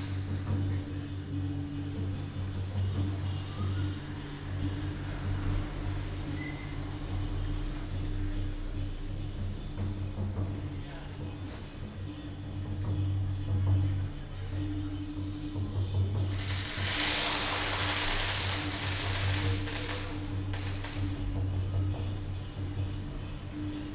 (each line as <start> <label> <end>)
16.2 Firecrackers sound 23.3